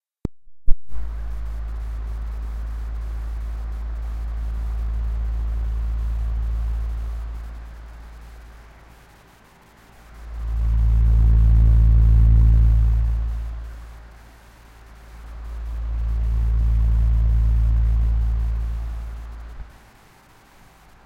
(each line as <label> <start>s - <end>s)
Compressed sound of a fan 0.9s - 21.0s